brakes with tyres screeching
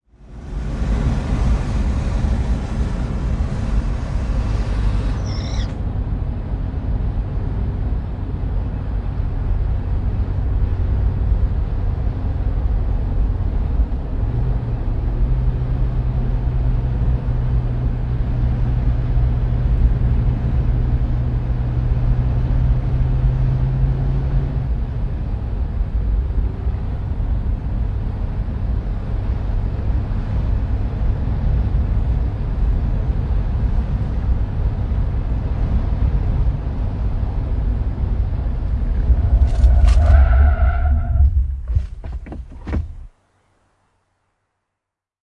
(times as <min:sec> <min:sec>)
0:00.2 0:06.0, 0:37.1 0:43.1